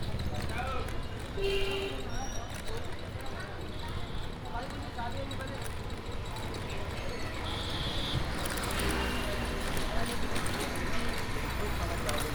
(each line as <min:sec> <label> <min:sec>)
0:00.0 busy street 0:12.3
0:00.0 pedal rickshaw 0:12.3